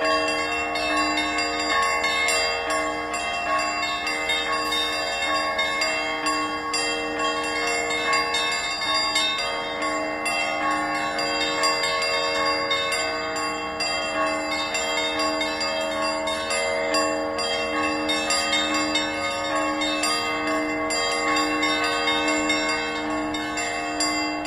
0.0s Church bells chime 24.4s

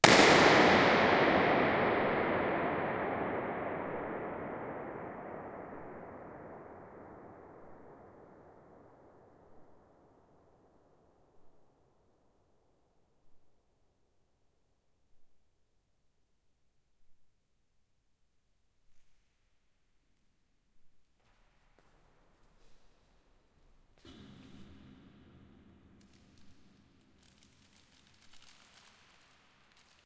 0.0s Balloon burst 7.6s

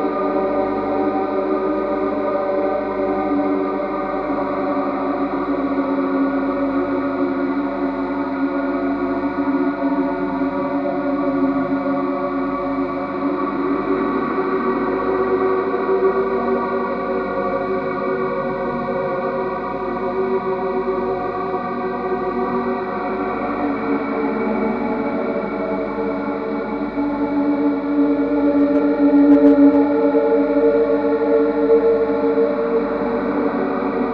18.8s guitar 34.1s
27.2s drone 34.1s

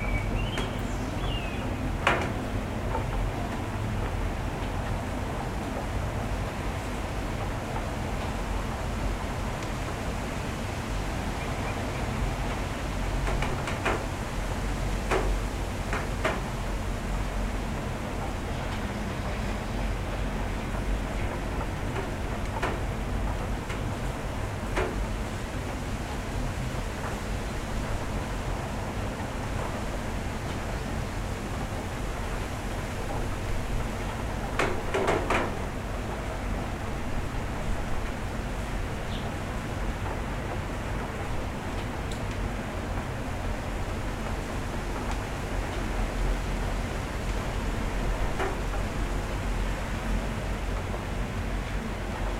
0.0s Rain 52.3s
0.0s Wind 52.3s

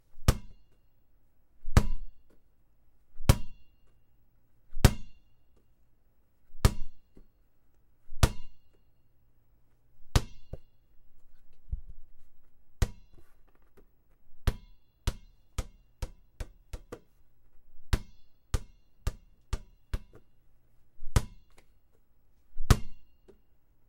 21.1s basketball ext dribble bounce hard surface 21.5s

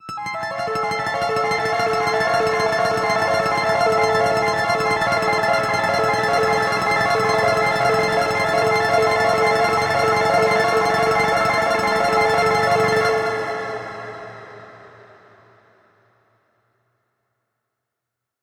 0.0s arpeggio 14.3s

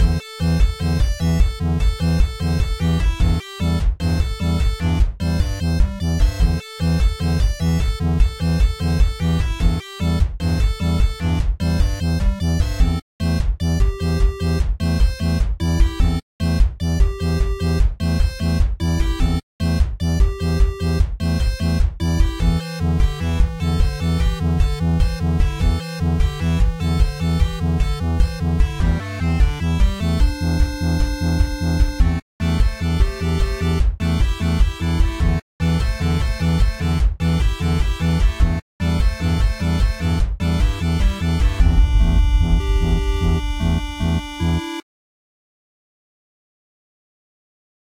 41.5s neon synth 44.8s

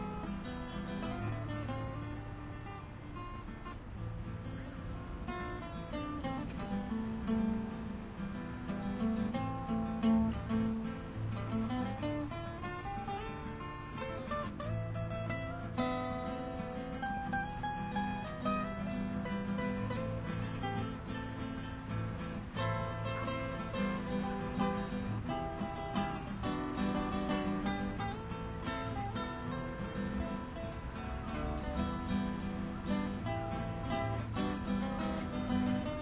0.0s two people playing guitar 36.0s

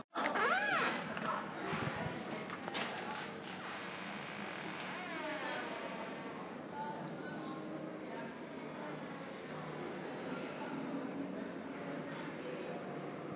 0.0s Door creaks open at the end 6.3s

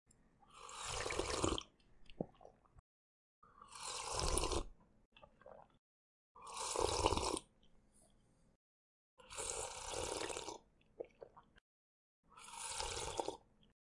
0.5s Drinking tea 2.6s
3.5s Drinking tea 5.8s
6.4s Drinking tea 7.5s
9.2s Drinking tea 11.5s
12.3s Drinking tea 13.5s

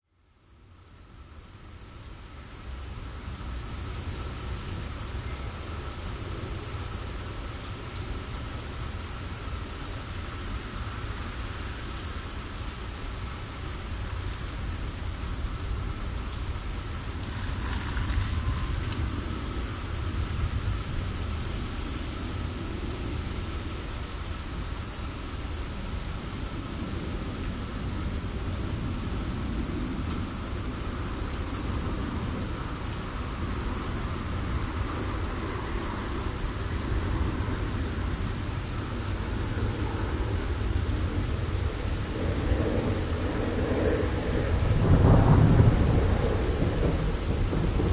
0.0s rain 47.9s
17.1s airplane about to land 24.1s
28.2s airplane about to land 47.9s
39.2s thunders 47.9s

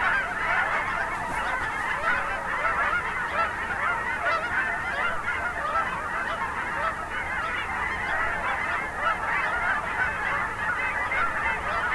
0.0s geese as they take flight 11.9s

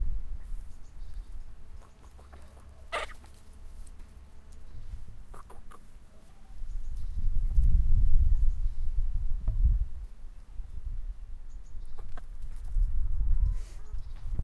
1.8s Chicken sounds 1 3.4s
5.3s Chicken sounds 1 6.6s

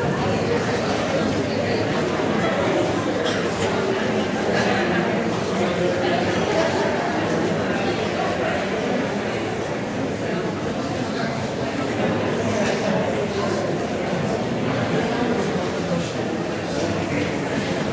0.0s Crowd Noise 17.9s

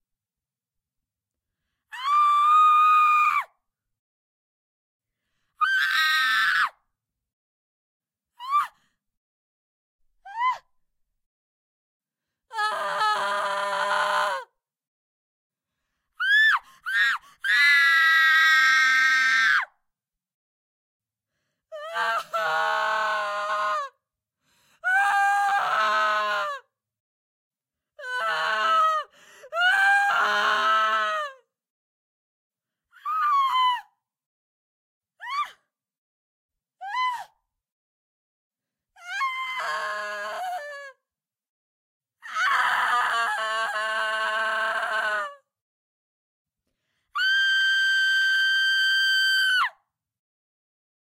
1.9s screams from deep yelling to high pitched horror 3.5s
42.3s screams from deep yelling to high pitched horror 45.5s
47.2s screams from deep yelling to high pitched horror 49.8s

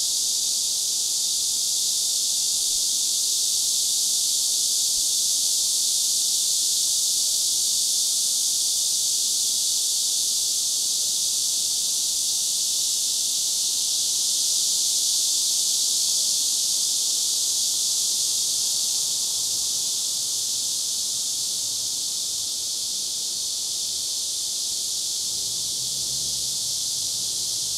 0.0s Crickets 27.7s
0.0s cicada 27.7s
25.3s Traffic 27.7s

